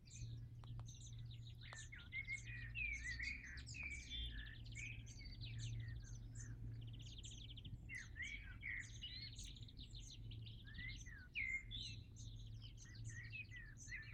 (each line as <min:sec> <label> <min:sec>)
0:00.0 bird singing 0:14.1